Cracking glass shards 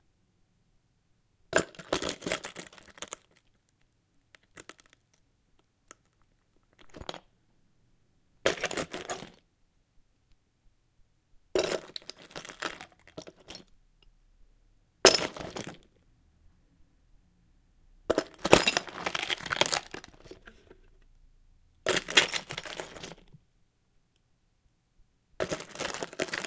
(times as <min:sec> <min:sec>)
0:18.4 0:20.2